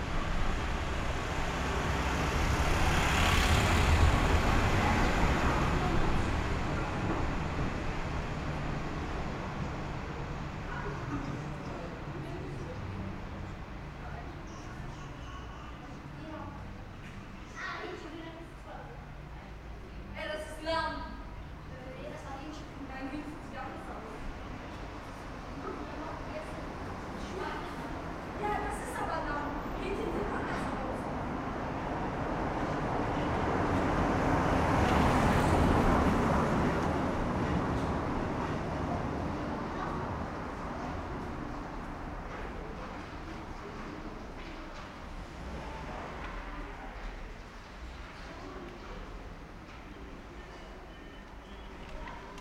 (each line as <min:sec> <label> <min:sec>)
0:00.0 autos 0:15.2
0:24.2 autos 0:50.2